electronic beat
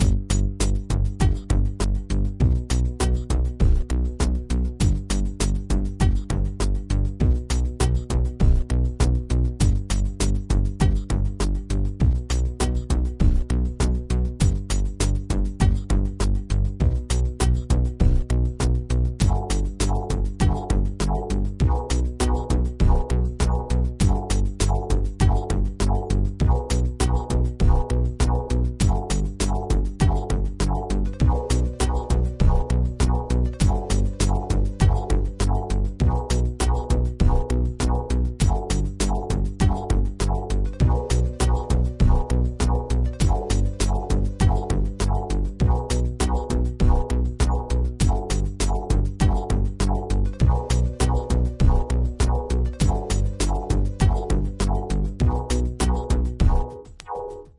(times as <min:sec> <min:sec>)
0:19.2 0:57.5